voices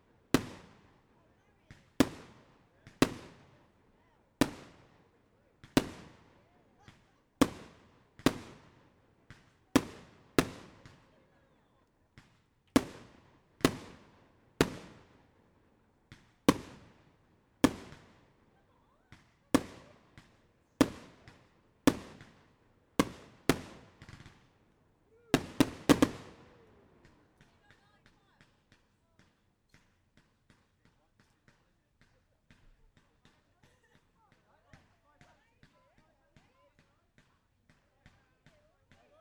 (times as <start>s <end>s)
23.0s 29.2s